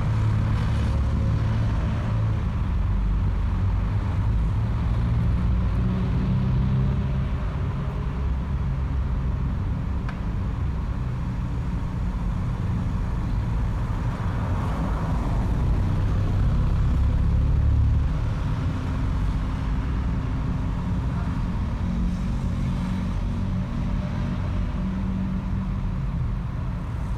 motorcycles 0.0 - 27.1
passing cars 0.0 - 27.1
passing trucks 0.0 - 27.1
wind 0.0 - 27.1

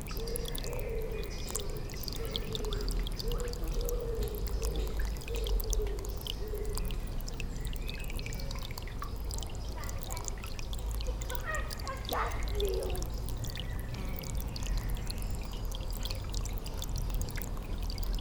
rill, giving water to the pond 0.0 - 18.2
children playing 11.0 - 13.2

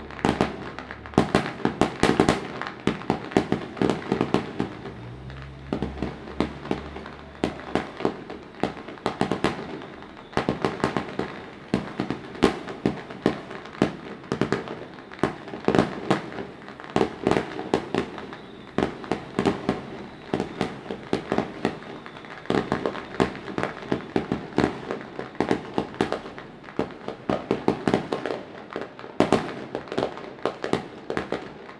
Firecrackers 0.0 - 31.7
fireworks 0.0 - 31.7

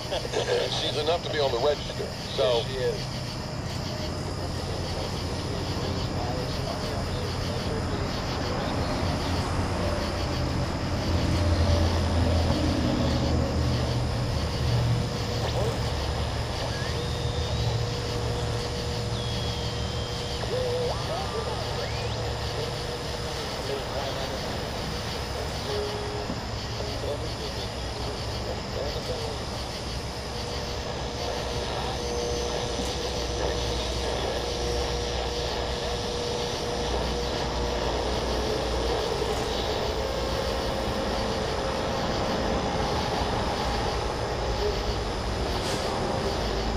clock radio 0.0 - 8.9
cicadas 0.0 - 46.7
traffic 0.0 - 46.7
clock radio 15.0 - 46.7

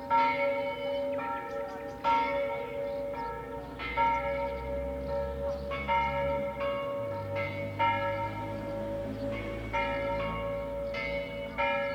birds 0.0 - 11.9
echo of church bells 0.0 - 11.9

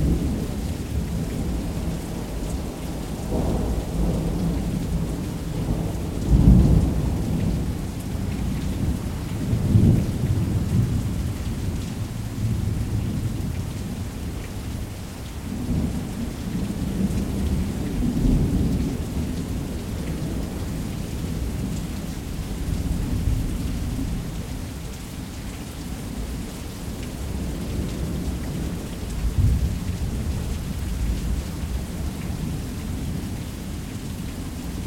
rain 0.0 - 34.8

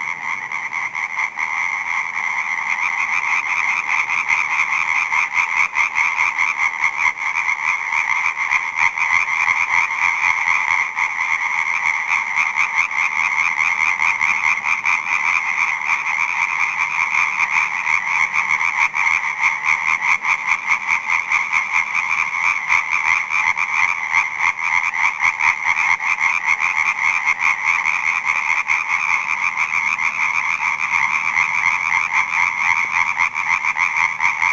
frogs 0.0 - 34.5

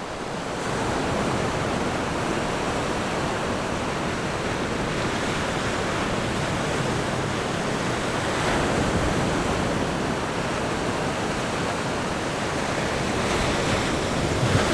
Waves and tides 0.0 - 14.7

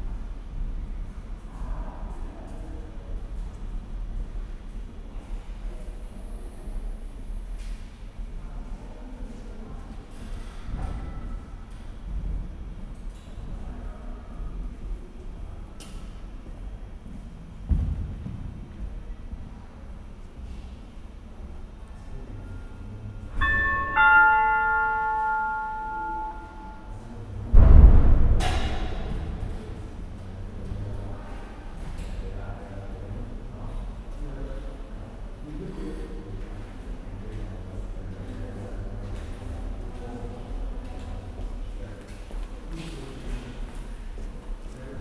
loud, but friendly, electronic 'ding dong' 23.4 - 27.0
doors open and close mysteriously with a thump 27.6 - 31.3
People walk or shuffle up and down 35.9 - 45.0

